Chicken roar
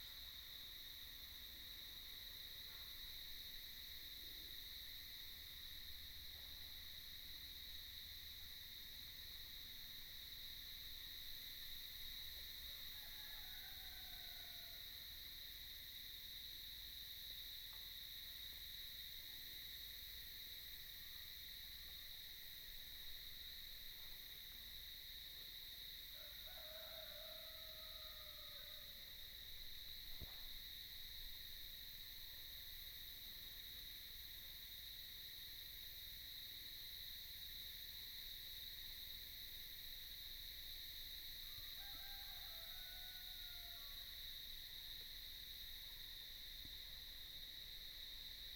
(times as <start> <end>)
26.2 29.0, 41.8 44.0